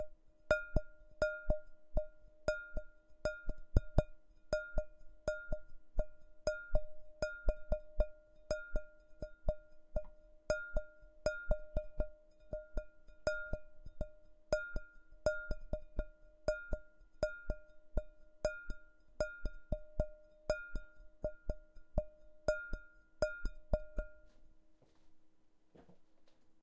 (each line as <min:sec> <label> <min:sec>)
0:00.0 simple bright bowl played at 120bmp with the fingertips 0:24.6